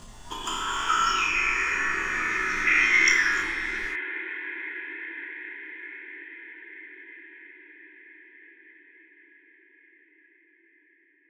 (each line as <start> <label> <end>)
0.0 Creature Monster Alien Vocal 4.0